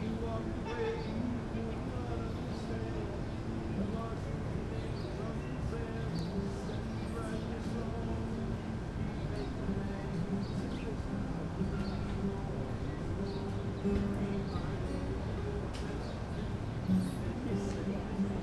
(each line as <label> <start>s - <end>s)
guitar 0.0s - 18.4s
birdsong 9.1s - 17.4s